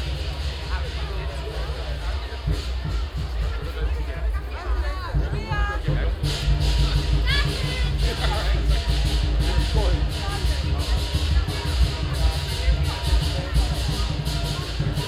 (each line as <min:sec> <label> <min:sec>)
0:00.0 Dragon dance 0:15.0